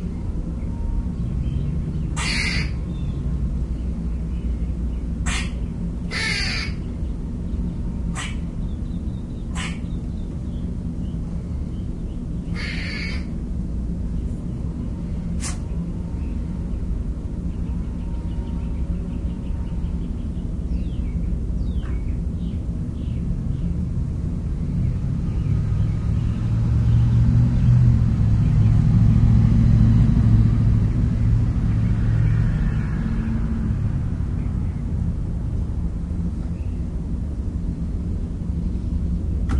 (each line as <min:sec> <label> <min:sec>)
0:02.2 Barking squirrel 0:02.8
0:05.2 Barking squirrel 0:06.8
0:08.1 Barking squirrel 0:08.5
0:09.5 Barking squirrel 0:10.0
0:12.5 Barking squirrel 0:13.4
0:23.3 passing truck 0:39.5